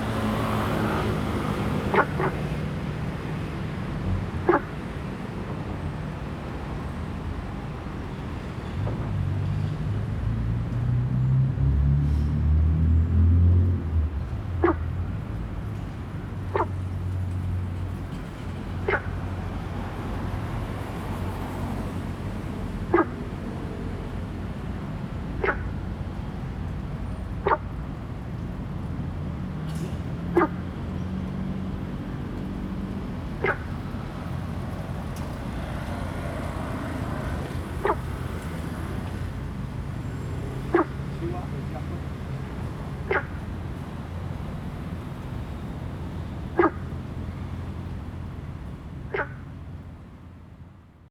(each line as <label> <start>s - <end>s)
Traffic Sound 0.0s - 51.1s
Frog sound 1.9s - 2.4s
Frog sound 4.5s - 4.8s
Frog sound 14.6s - 15.0s
Frog sound 16.5s - 16.8s
Frog sound 18.8s - 19.2s
Frog sound 22.9s - 23.2s
Frog sound 25.4s - 25.8s
Frog sound 27.4s - 27.7s
Frog sound 30.4s - 30.6s
Frog sound 33.4s - 33.8s
Frog sound 37.8s - 38.0s
Frog sound 40.7s - 42.0s
Frog sound 43.0s - 43.5s
Frog sound 46.5s - 46.9s
Frog sound 49.1s - 49.5s